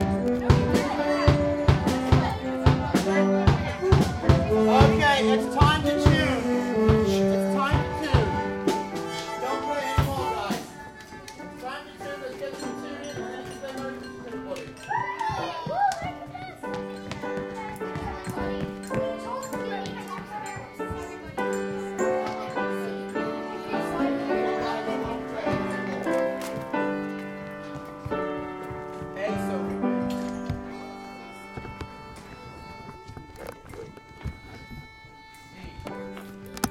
drums 0:00.0 - 0:11.0
piano comes in about half way through and gently starts to play 0:00.0 - 0:36.7
violins 0:00.0 - 0:36.7
music teacher (English accent) telling them what to do 0:04.5 - 0:08.4

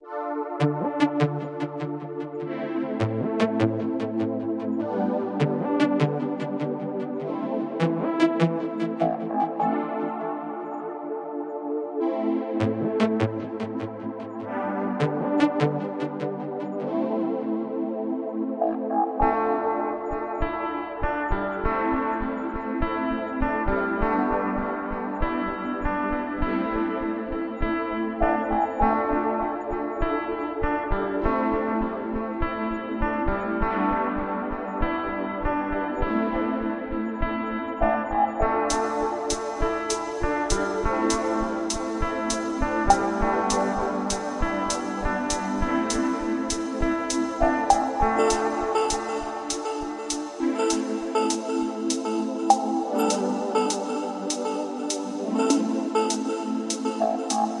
synth 0:00.0 - 0:57.6
guitar 0:18.7 - 0:57.6

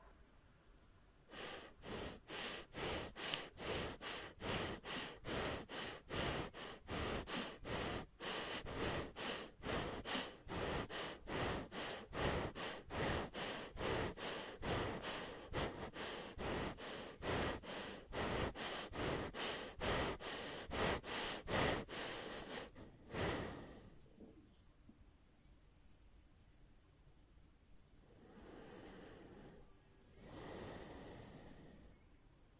breathing 0:01.3 - 0:24.2
breathing 0:28.0 - 0:32.3

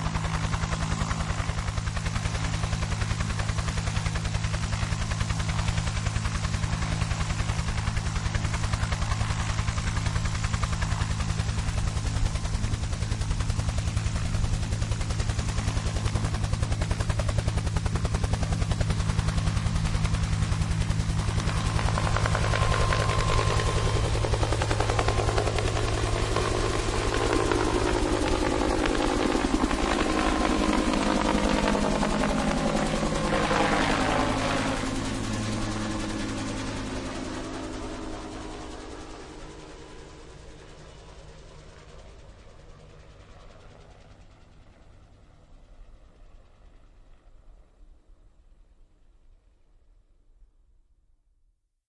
UH-1 Helicopter landing 0:00.0 - 0:48.3

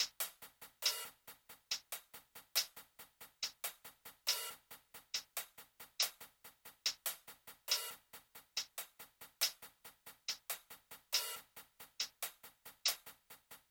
Kick 0:00.0 - 0:13.7
Snare 0:00.0 - 0:13.7

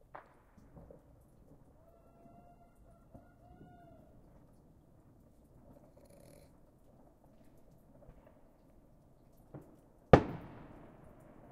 fireworks being set off 0:00.0 - 0:01.8
melting snow dripping off of my porch's roof 0:00.0 - 0:11.5
fireworks being set off 0:09.4 - 0:11.5

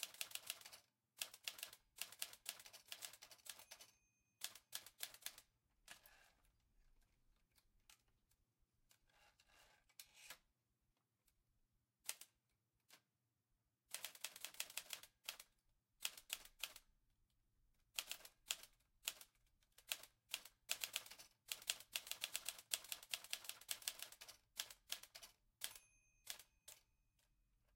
oldfashioned typewriter 0:00.0 - 0:05.4
oldfashioned typewriter 0:13.9 - 0:16.8
oldfashioned typewriter 0:18.0 - 0:26.9
pings 0:25.7 - 0:26.6

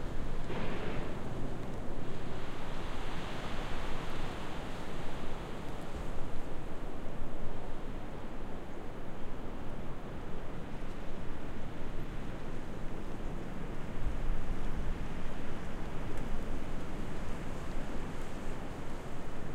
Wind 0:00.0 - 0:19.5

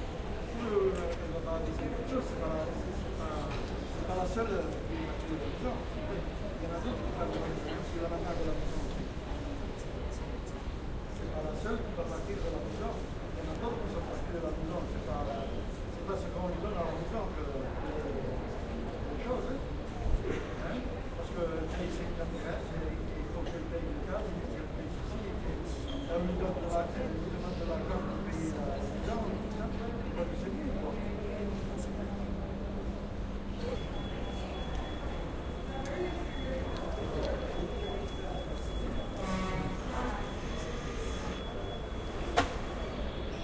announcements 0:30.7 - 0:43.4

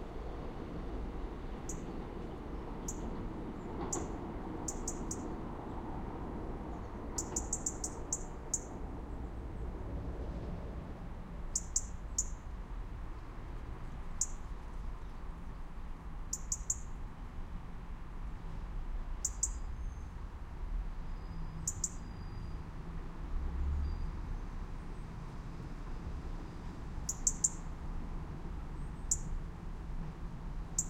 another train which stops for a short while 0:00.0 - 0:08.8
plane flies over 0:00.0 - 0:13.8
train passes without stopping 0:00.0 - 0:14.4
train passes without stopping 0:21.0 - 0:30.8

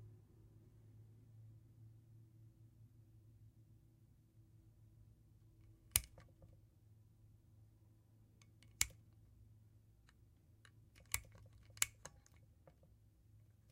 screw in the light bulb 0:05.9 - 0:06.3
switch 0:05.9 - 0:06.4
switch 0:08.4 - 0:09.0
screw in the light bulb 0:11.0 - 0:12.4
switch 0:11.0 - 0:12.4

